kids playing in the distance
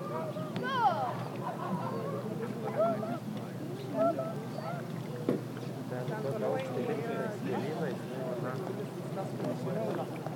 0.0s 8.0s

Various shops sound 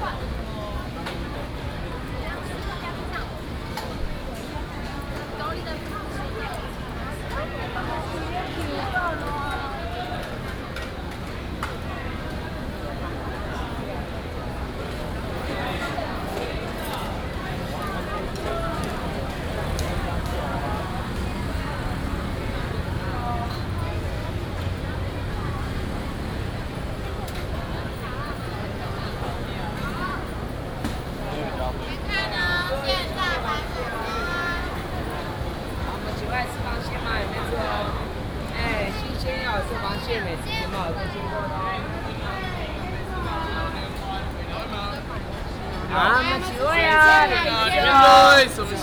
12.4s 41.0s

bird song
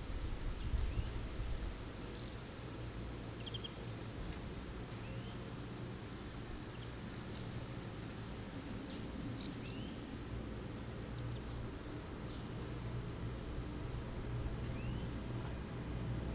0.4s 1.4s, 2.1s 2.5s, 3.3s 5.5s, 6.6s 7.8s, 8.6s 10.2s, 11.0s 12.7s, 14.6s 15.2s

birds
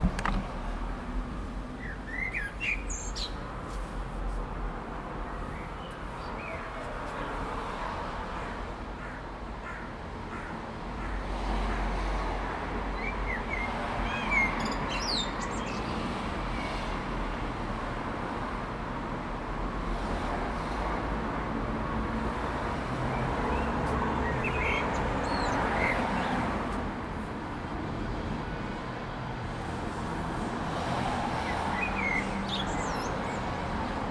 1.8s 3.5s, 13.0s 16.7s, 23.1s 26.6s, 31.4s 33.6s

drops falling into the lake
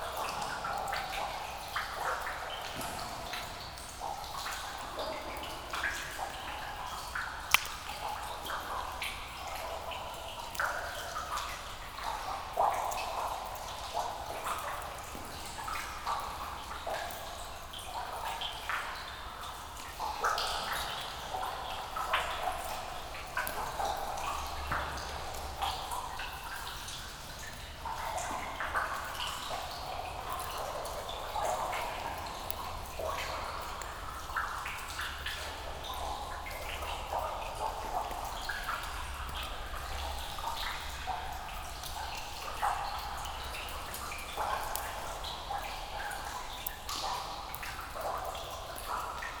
7.2s 8.6s

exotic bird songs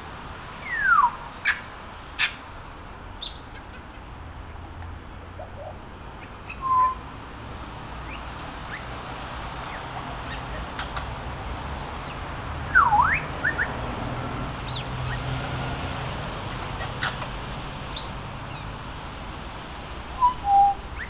3.2s 7.1s, 8.0s 19.6s, 20.2s 21.0s

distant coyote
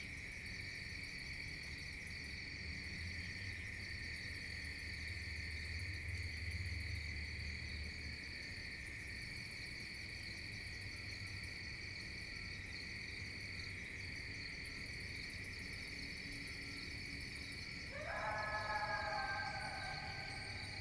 17.9s 20.8s

